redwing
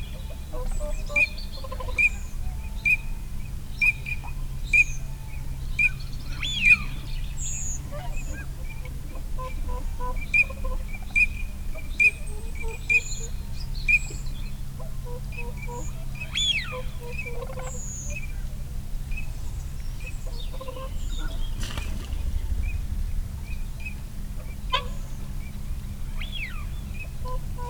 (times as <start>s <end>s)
20.9s 24.0s